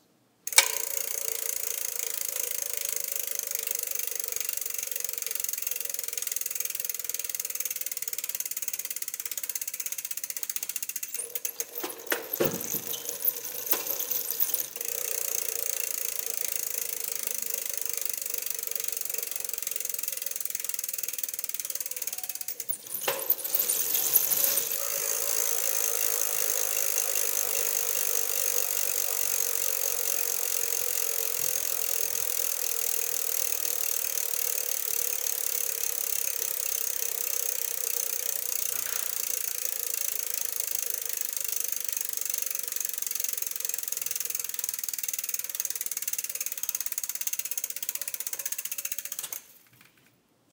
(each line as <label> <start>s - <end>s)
Bicycle rear wheel spinning freely 0.5s - 50.0s